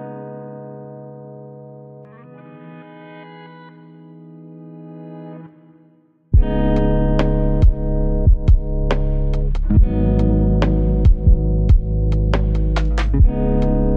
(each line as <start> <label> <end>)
0.0 guitar 13.9
6.4 bass 13.9
6.4 beat 13.9